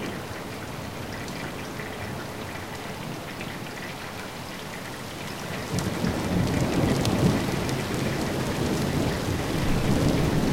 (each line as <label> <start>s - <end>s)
rain 0.0s - 10.5s
thunder 5.7s - 10.5s